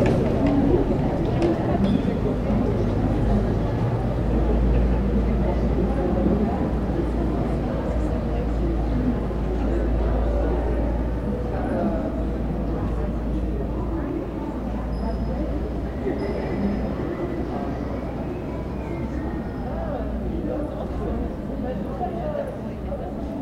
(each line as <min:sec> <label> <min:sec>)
0:00.0 passage du petit train touristique 0:23.4